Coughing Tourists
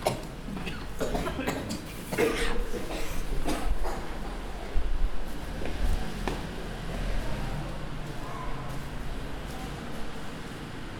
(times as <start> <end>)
0.0 4.4